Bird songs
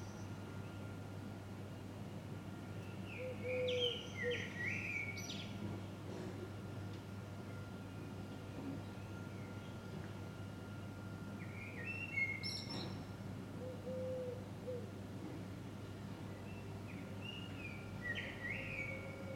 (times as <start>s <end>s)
0.0s 1.0s, 2.8s 5.7s, 7.4s 14.9s, 16.1s 19.3s